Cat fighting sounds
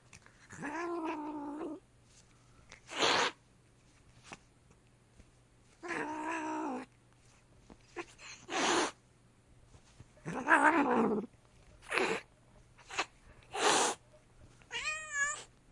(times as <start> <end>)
0.3 1.8, 10.2 14.0